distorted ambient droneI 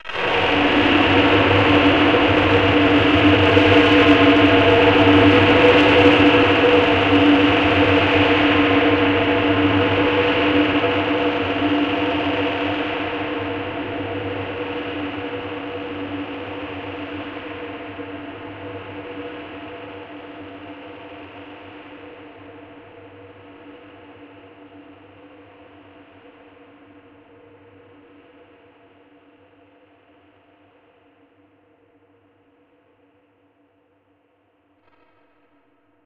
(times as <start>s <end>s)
0.0s 15.9s